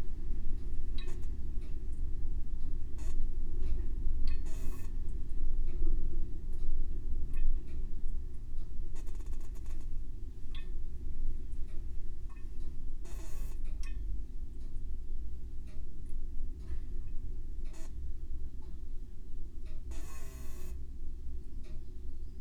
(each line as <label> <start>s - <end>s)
freezer’s hum 0.0s - 22.4s